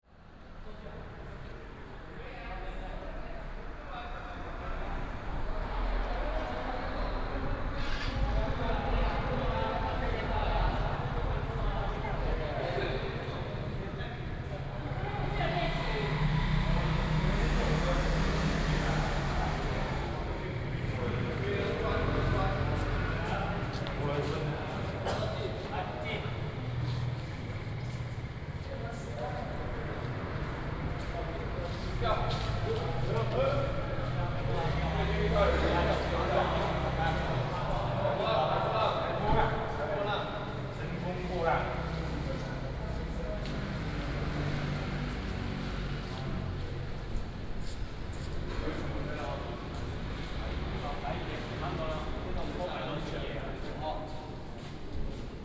0.1s traffic sound 55.4s

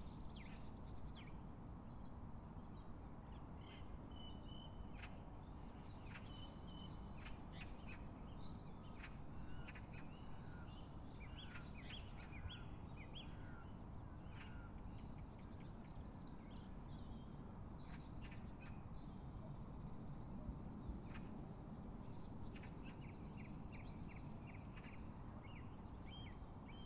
0.0s birdsong 26.8s

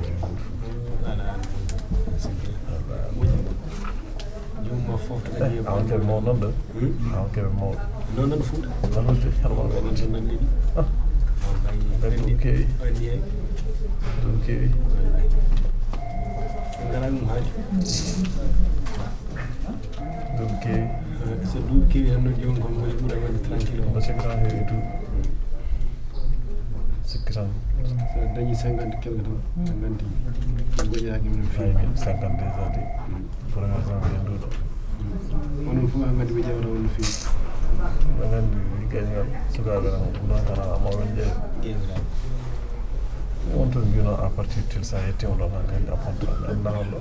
0.0s People waiting to be registered 47.0s

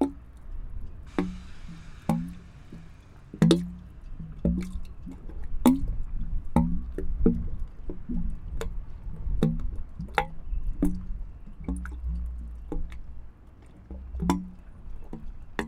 0.0s drainage pipe 15.6s

